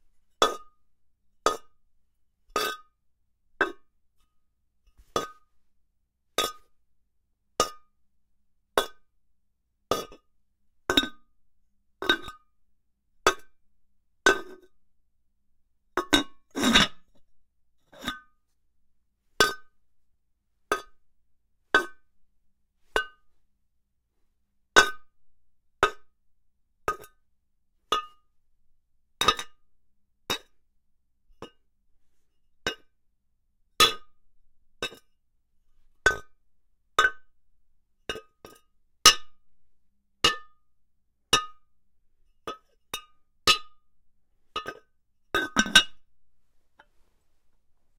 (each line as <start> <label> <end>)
45.4 ceramic clay pot lid hits 46.0